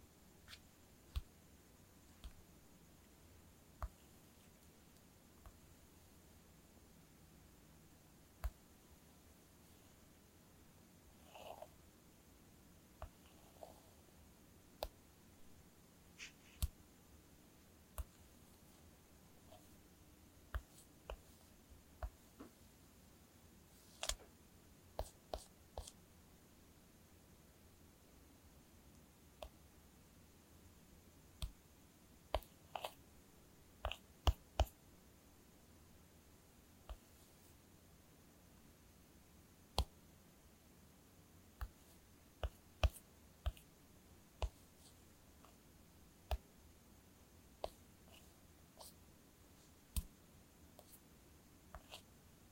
Thumb swiping, touching, tapping on an iPhone screen 16.2 - 16.8
Thumb swiping, touching, tapping on an iPhone screen 41.6 - 41.8

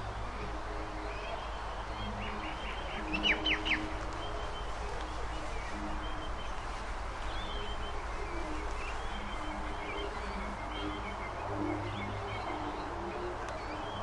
birds 0.0 - 14.0

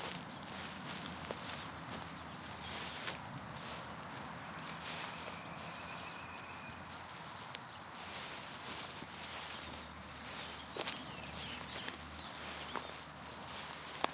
Footsteps on grass 0.0 - 14.1

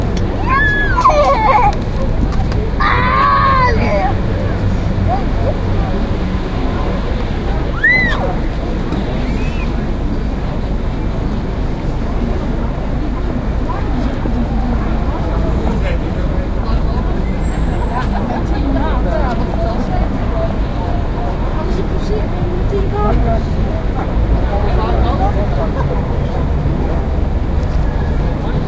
chattering 0.0 - 11.6
traffic 0.0 - 28.6

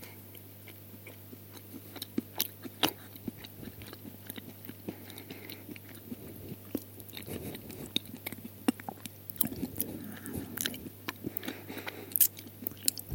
chewing 0.0 - 13.1
Swallowing cereals 1.1 - 13.1

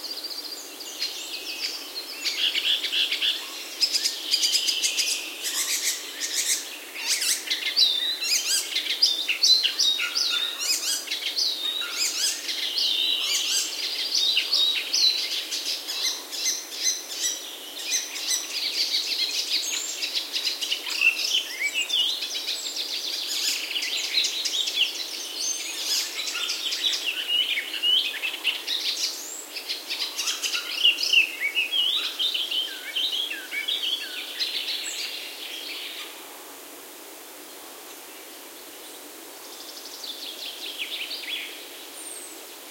forest birds 0.0 - 42.7

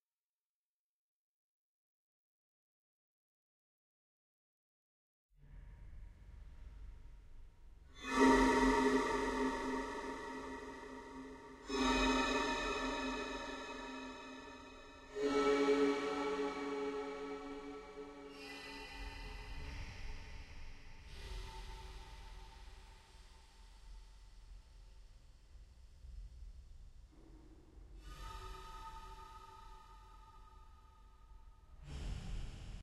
Mandoline Sounds with reverb 8.0 - 18.4

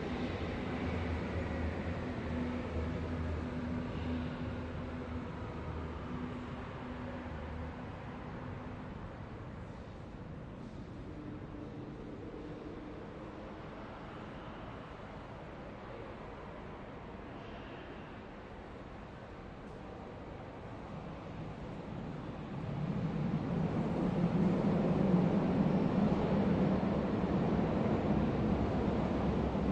Metro Station U8 Arrive Depart 0.0 - 29.7

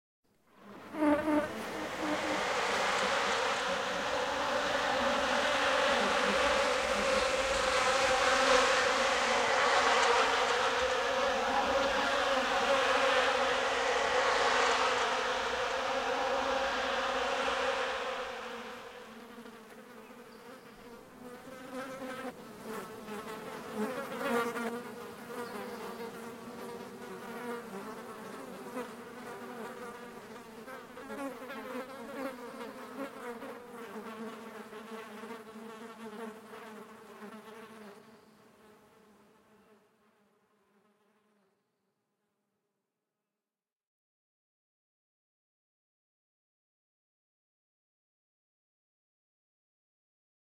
Flies swarm 0.6 - 39.6

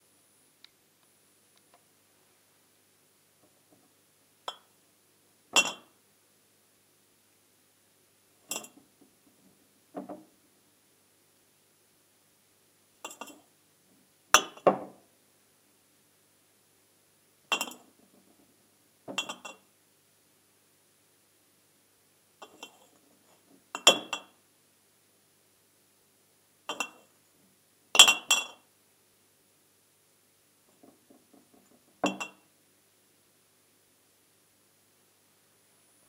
moving around a couple of large glass bottles on a shelf 5.5 - 6.0
moving around a couple of large glass bottles on a shelf 8.4 - 10.3
moving around a couple of large glass bottles on a shelf 13.0 - 13.5
moving around a couple of large glass bottles on a shelf 14.4 - 15.0
moving around a couple of large glass bottles on a shelf 17.5 - 18.5
moving around a couple of large glass bottles on a shelf 19.1 - 19.6
moving around a couple of large glass bottles on a shelf 22.4 - 24.4
moving around a couple of large glass bottles on a shelf 26.7 - 27.2
moving around a couple of large glass bottles on a shelf 28.0 - 28.7
moving around a couple of large glass bottles on a shelf 30.6 - 32.4

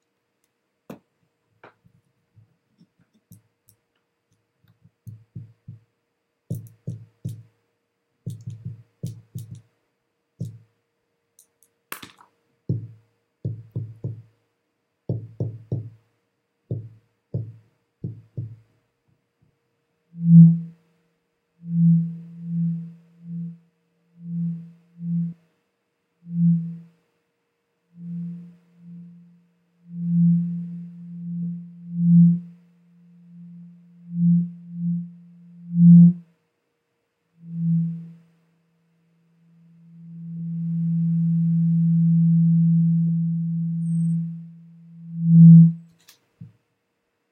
mid frequency larsen effects 39.2 - 45.9

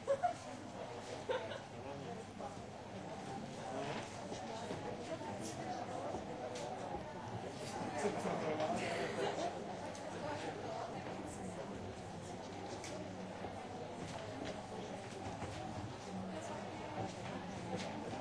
murmur 0.0 - 18.2
laugh 0.0 - 0.5
laugh 1.3 - 1.7

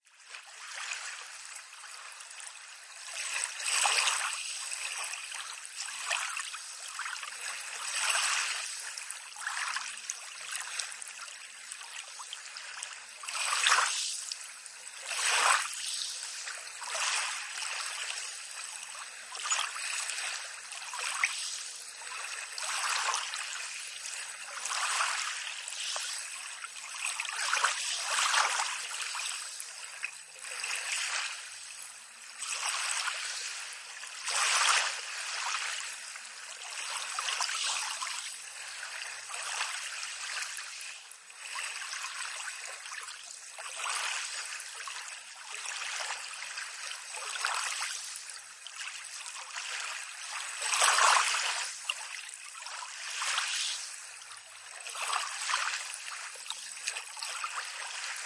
calm sea 0.0 - 58.2

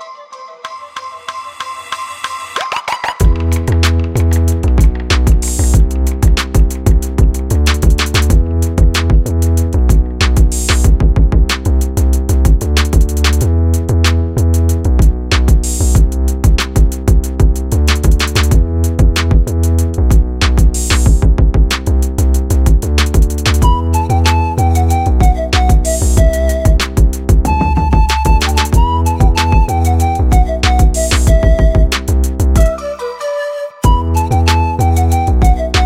pan flute 0.0 - 3.9
808ish bass 3.2 - 32.8
pan flute 23.6 - 35.8
808ish bass 33.8 - 35.8

